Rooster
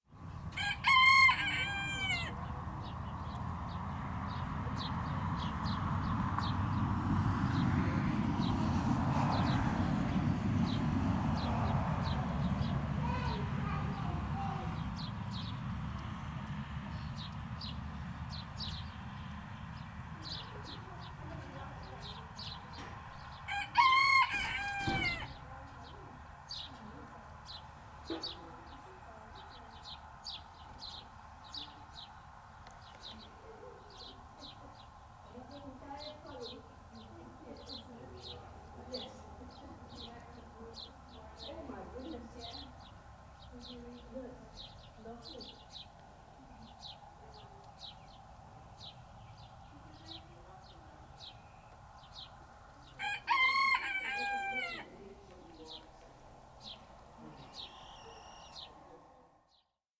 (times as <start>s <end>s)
0.5s 2.4s, 23.5s 25.4s, 52.9s 54.9s, 57.6s 58.7s